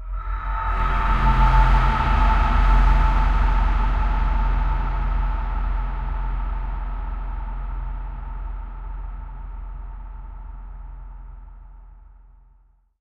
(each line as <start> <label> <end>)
0.0 drone 10.9